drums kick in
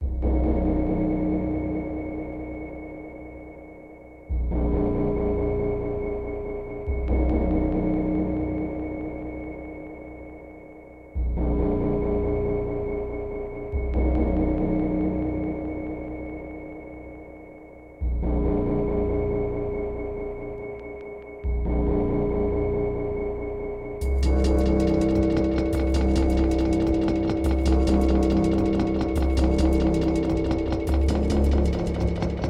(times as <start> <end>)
24.0 32.4